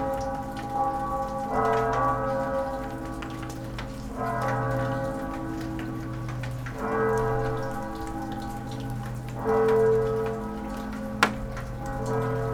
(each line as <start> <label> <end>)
0.0 church bells 12.5